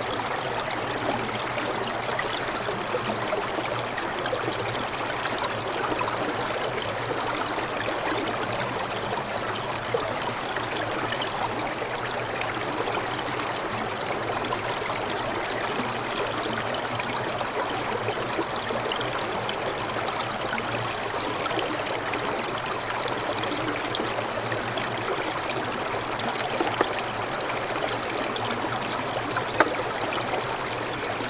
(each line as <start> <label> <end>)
0.0 mountain brook covered mostly with ice 31.2